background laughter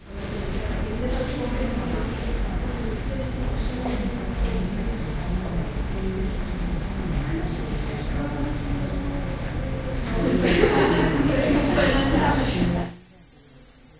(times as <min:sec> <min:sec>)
0:10.1 0:12.9